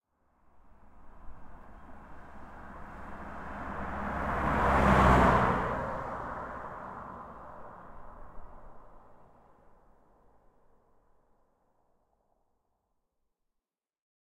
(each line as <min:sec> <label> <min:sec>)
0:00.5 Car pass by at high speed 0:10.0